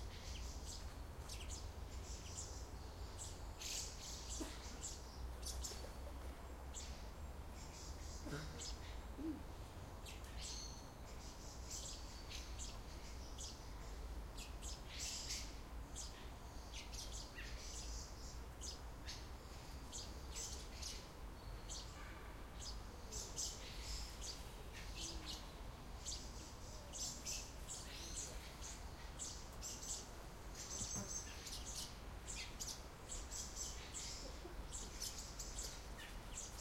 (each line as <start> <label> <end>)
0.0 birds 36.6